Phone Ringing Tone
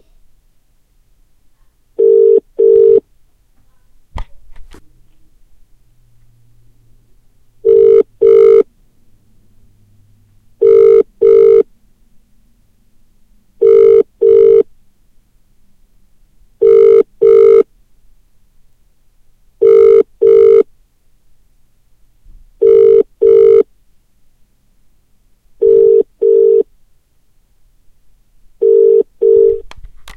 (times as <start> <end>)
2.0 3.0, 7.6 8.6, 10.6 11.6, 13.6 14.6, 16.6 17.6, 19.6 20.6, 22.6 23.6, 25.6 26.6, 28.6 29.6